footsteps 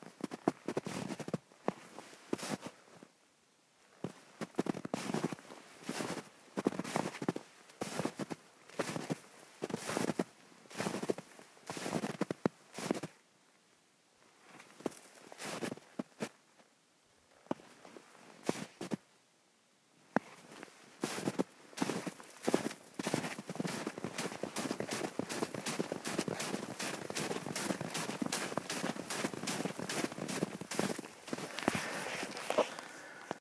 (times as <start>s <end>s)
20.2s 33.4s